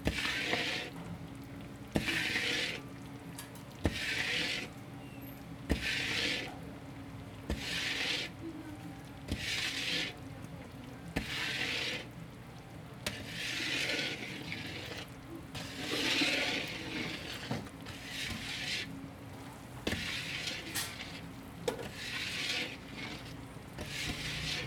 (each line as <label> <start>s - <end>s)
Shop owner stirring and cooking the winter melon 0.0s - 24.6s